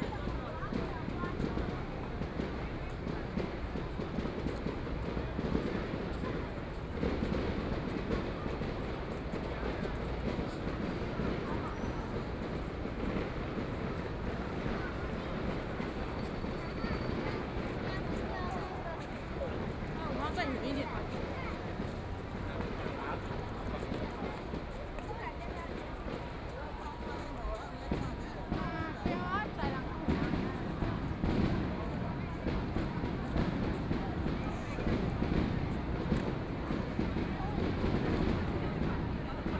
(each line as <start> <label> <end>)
0.0 Very many people 39.5
0.7 fireworks 6.3
9.6 fireworks 13.6
27.9 fireworks 39.5